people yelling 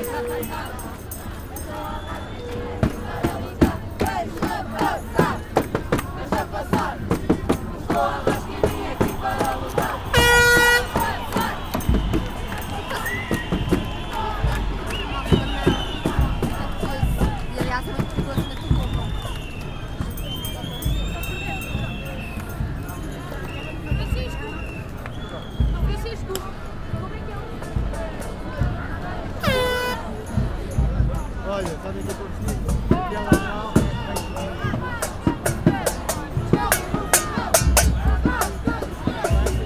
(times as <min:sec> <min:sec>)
0:00.0 0:22.5, 0:32.9 0:39.6